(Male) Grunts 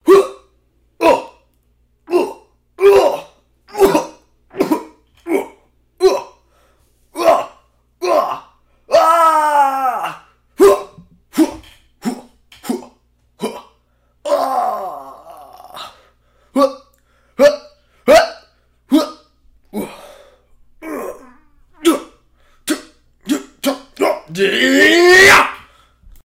2.1 6.3, 18.9 20.2, 20.8 25.2

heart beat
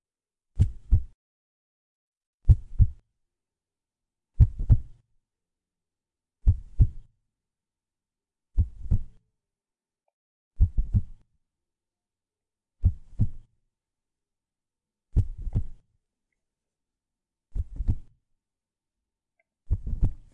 2.5 3.0, 4.4 5.0, 6.4 7.0, 8.6 9.2, 10.6 11.2, 12.8 13.5, 15.2 15.8, 17.6 18.1, 19.7 20.3

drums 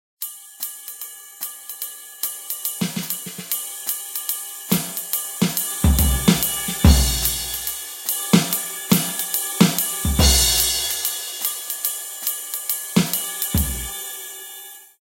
2.5 14.0

